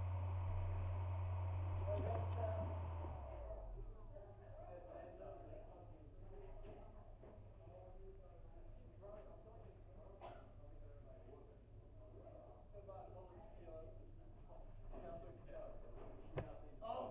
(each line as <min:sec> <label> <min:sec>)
0:00.0 external hard drive power 0:04.0